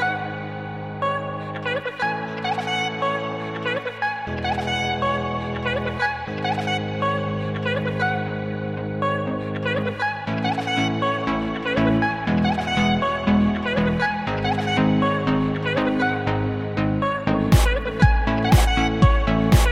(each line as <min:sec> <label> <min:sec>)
0:00.0 bass 0:19.7
0:00.0 synth 0:19.7
0:17.5 beat 0:19.7